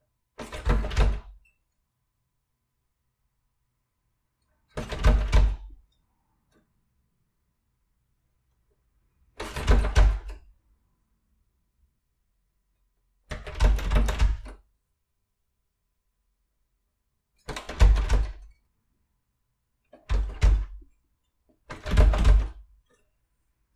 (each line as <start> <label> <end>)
0.4 locked door being interacted with 1.5
4.7 locked door being interacted with 5.8
9.4 locked door being interacted with 10.5
13.3 locked door being interacted with 14.6
17.4 locked door being interacted with 18.5
20.0 locked door being interacted with 20.9
21.6 locked door being interacted with 22.7